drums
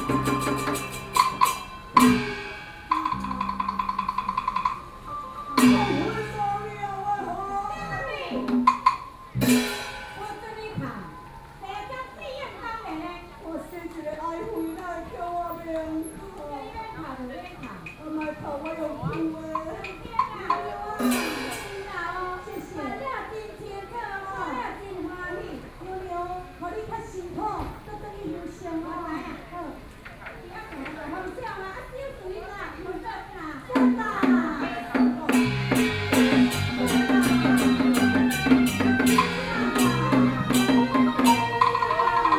0:00.0 0:11.8, 0:19.0 0:23.6, 0:33.6 0:42.3

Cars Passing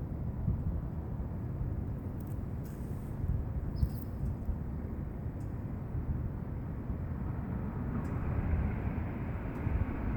0:07.2 0:10.1

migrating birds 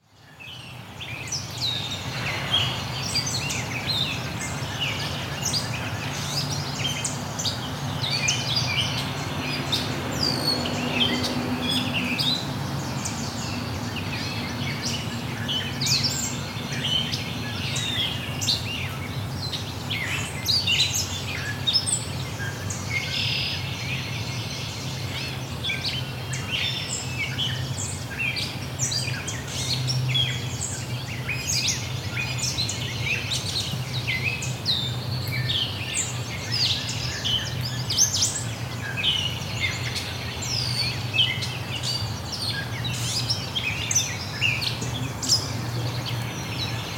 0:25.0 0:46.9

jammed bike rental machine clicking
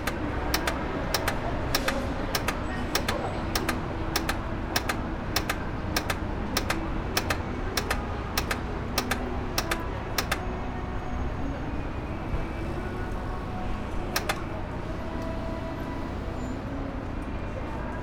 0:00.0 0:10.8, 0:14.0 0:14.7

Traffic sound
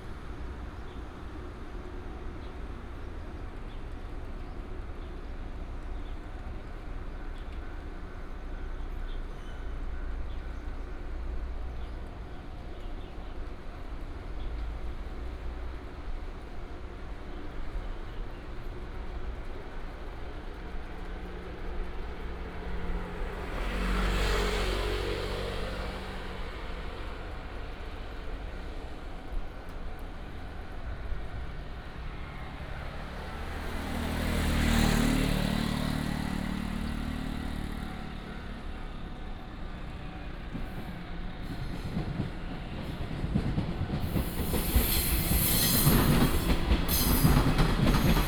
0:18.2 0:48.2

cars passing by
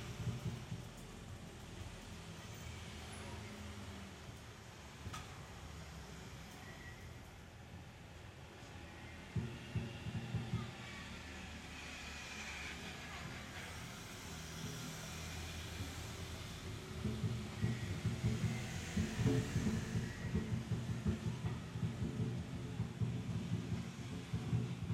0:08.5 0:24.9

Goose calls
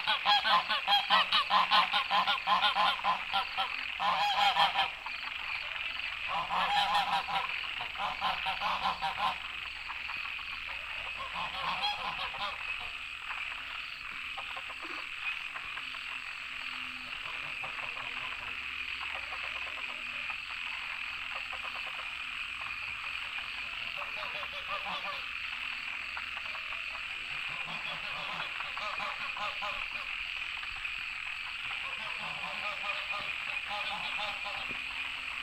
0:00.0 0:09.6, 0:10.5 0:13.0, 0:23.9 0:25.4, 0:26.2 0:30.2, 0:31.6 0:35.2

